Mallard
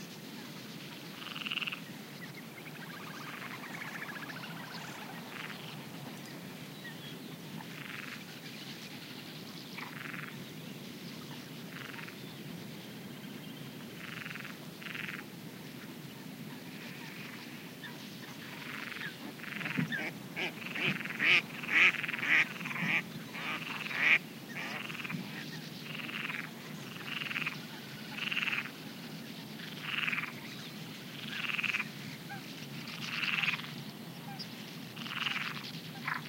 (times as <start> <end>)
18.6 28.7, 31.2 32.4